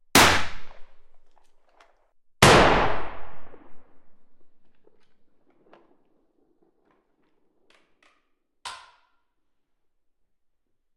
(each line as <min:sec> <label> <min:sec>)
0:00.1 gunshot indoors 0:01.1
0:02.4 gunshot indoors 0:04.5